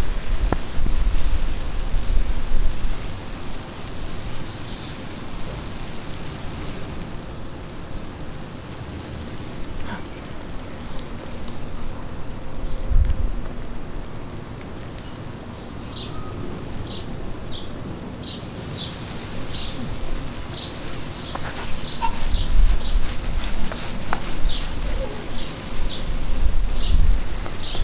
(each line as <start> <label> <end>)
0.0 sprinkler in backyard 27.8
15.0 birds 19.8
20.4 birds 23.1
24.4 birds 26.1